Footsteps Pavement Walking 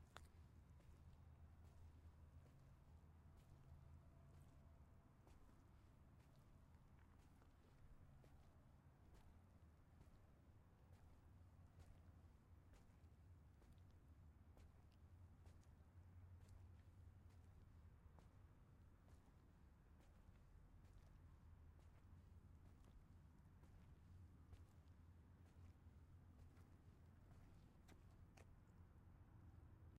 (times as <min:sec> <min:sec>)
0:00.1 0:03.5, 0:14.6 0:28.8